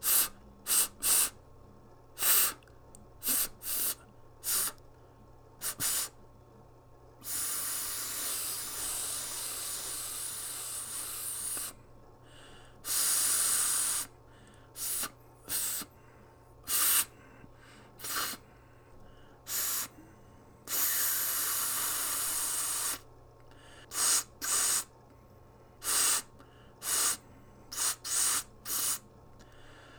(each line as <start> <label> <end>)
3.2 air hisses and releases 4.8
5.6 air hisses and releases 6.2
7.2 air hisses and releases 11.8
12.9 air hisses and releases 14.1
16.7 air hisses and releases 17.1
18.0 air hisses and releases 18.4
19.5 air hisses and releases 19.9
20.7 air hisses and releases 23.0
23.9 air hisses and releases 24.9
25.8 air hisses and releases 29.0